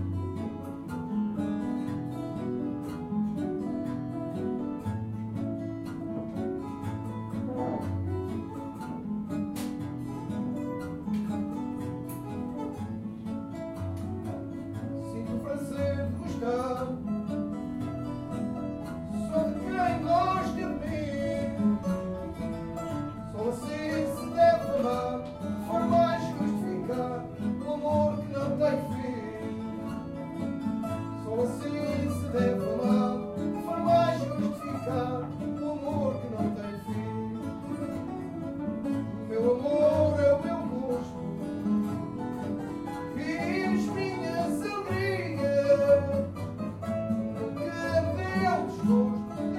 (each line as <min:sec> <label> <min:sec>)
0:00.0 Fado vadio 0:49.5